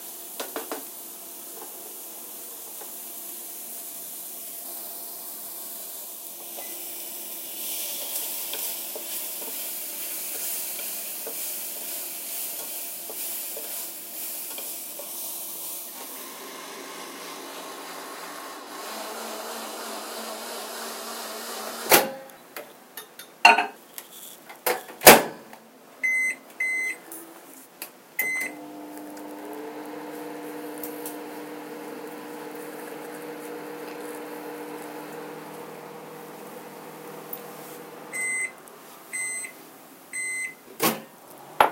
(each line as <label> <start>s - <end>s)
boiling 0.0s - 18.9s
frying 0.0s - 19.0s
steam 0.0s - 21.6s
mixer 2.8s - 22.0s
microwave 6.4s - 7.3s
microwave 15.9s - 22.3s
microwave 28.2s - 39.5s
boiling 28.2s - 39.5s
mixer 28.2s - 38.5s
frying 28.4s - 39.2s
washing 28.6s - 38.2s